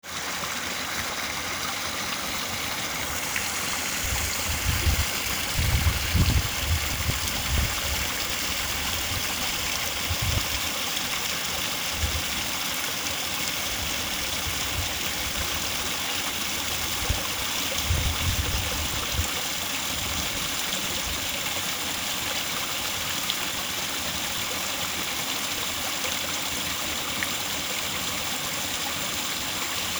medium size stream 0.0 - 29.9

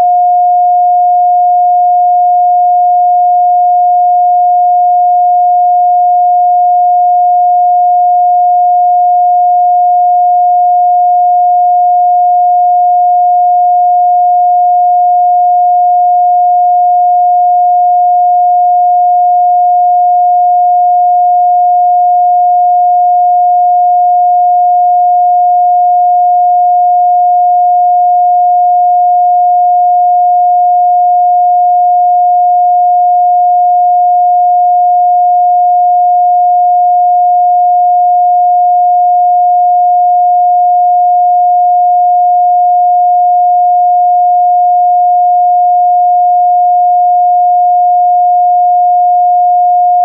Pure Sine Wave 0.0 - 50.0

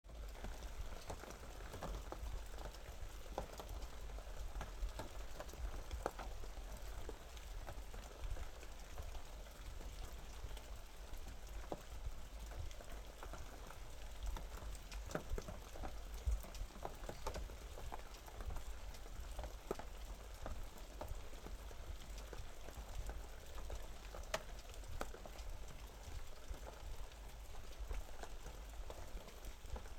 Rain On Wooden Roof 0.0 - 29.9

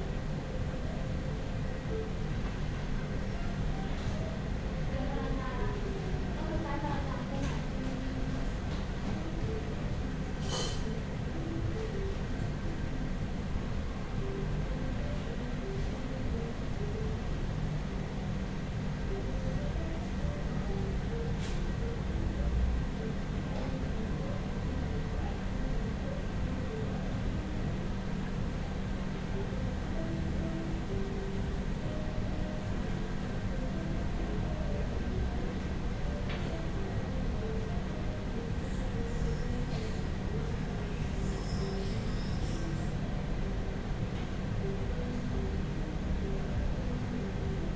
Soft background music 0.0 - 47.7

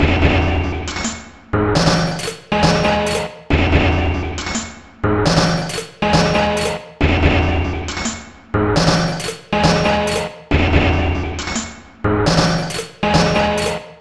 Drum Loop 1.8 - 4.6
Drum Loop 5.3 - 8.0
Drum Loop 8.8 - 11.6
Drum Loop 12.3 - 14.0

